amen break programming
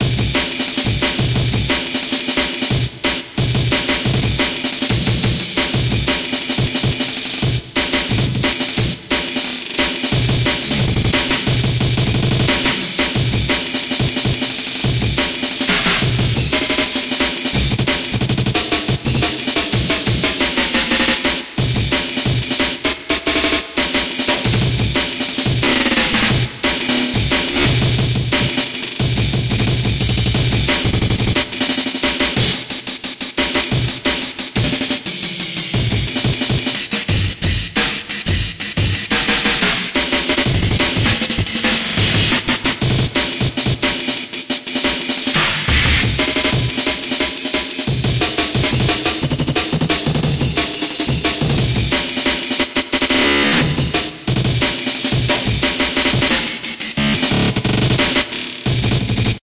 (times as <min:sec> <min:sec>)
0:24.2 0:32.7, 0:53.0 0:58.2